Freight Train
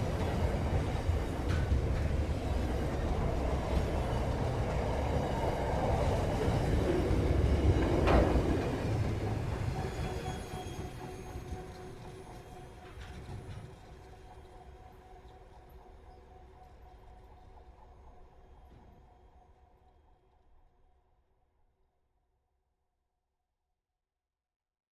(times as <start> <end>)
0.0 19.6